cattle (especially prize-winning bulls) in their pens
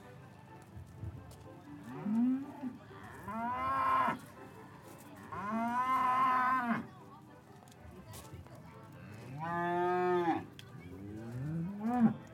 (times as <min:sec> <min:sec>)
0:01.7 0:04.4, 0:05.1 0:07.0, 0:09.0 0:12.3